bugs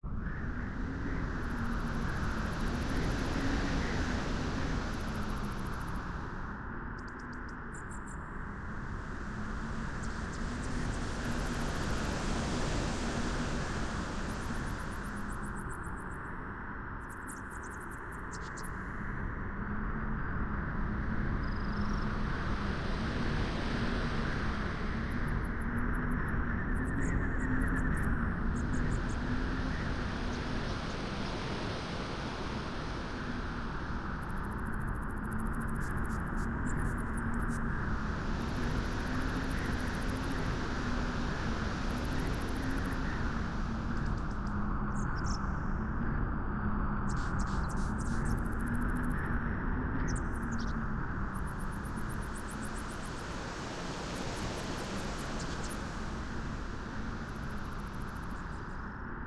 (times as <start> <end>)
1.1 6.2, 21.4 45.8, 47.0 59.2